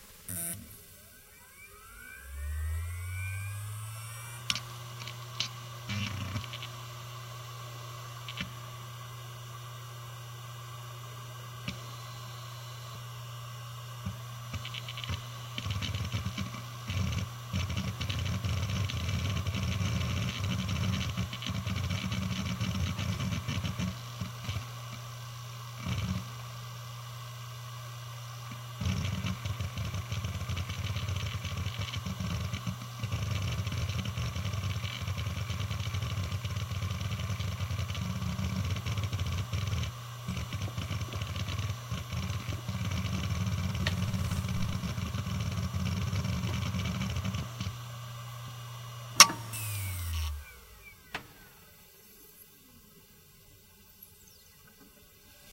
hard drive 0:00.0 - 0:09.1
hard drive 0:28.5 - 0:47.9
hard drive 0:49.2 - 0:51.6

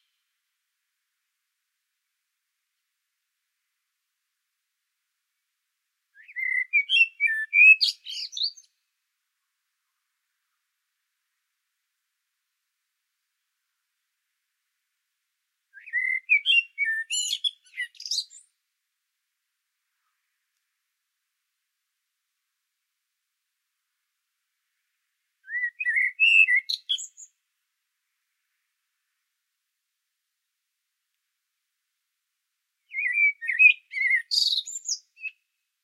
blackbird 0:06.1 - 0:08.8
blackbird 0:15.7 - 0:18.5
blackbird 0:25.4 - 0:27.4
blackbird 0:32.8 - 0:35.6

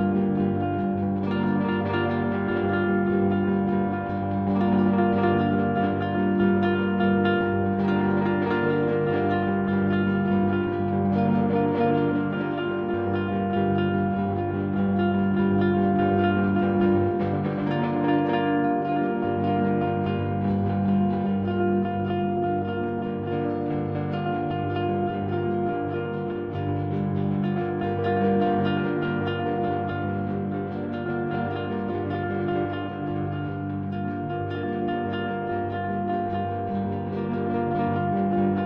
Electric mandocello drone 0:00.0 - 0:38.6

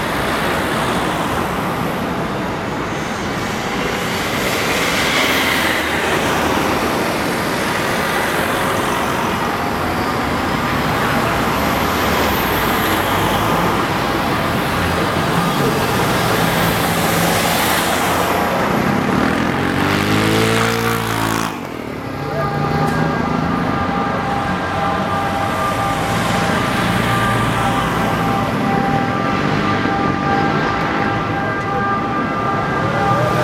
cars traffic 0:00.0 - 0:33.4
moto 0:18.6 - 0:21.7

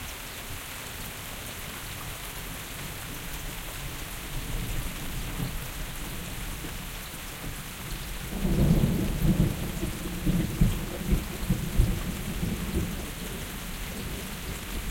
rains 0:00.0 - 0:14.9
thunder 0:08.2 - 0:13.4

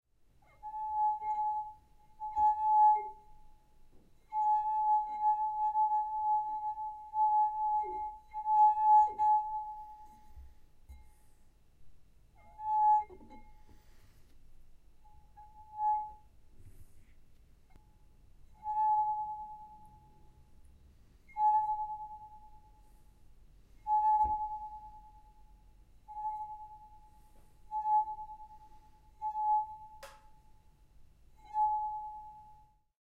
wine glass being played in different ways 0:00.3 - 0:32.9

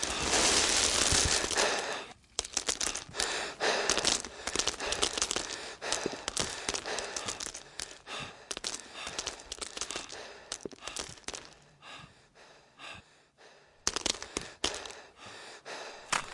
scraping gravel and earth out of the way 0:00.0 - 0:11.5
cracking through a stone wall 0:00.0 - 0:11.6
heavy breathing 0:00.0 - 0:16.3
cracking through a stone wall 0:13.8 - 0:15.1
cracking through a stone wall 0:16.0 - 0:16.3

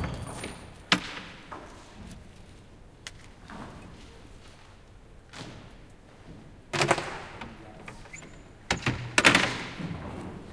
sounds produced by people working 0:00.0 - 0:10.5

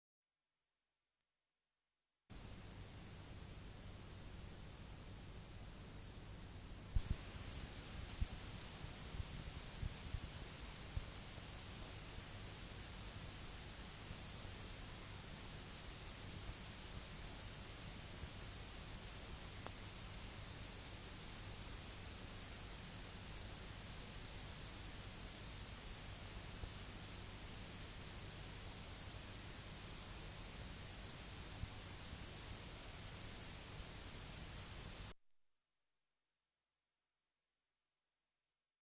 Tape Hiss from Blank Tape 0:04.0 - 0:35.2

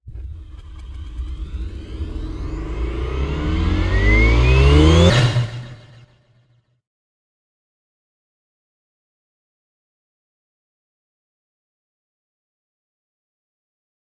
start up sound for space ships 0:00.0 - 0:06.4

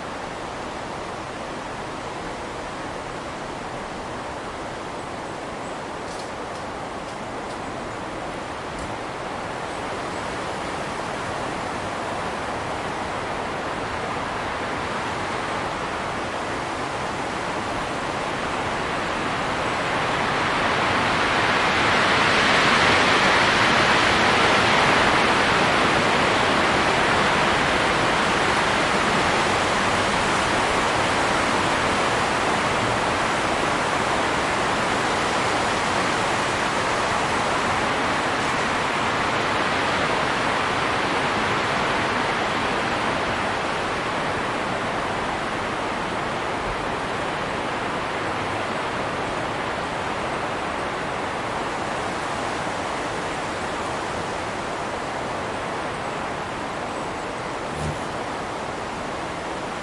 wind in tall trees 0:00.0 - 0:59.8
very close bumblebee fly-by 0:57.6 - 0:58.4

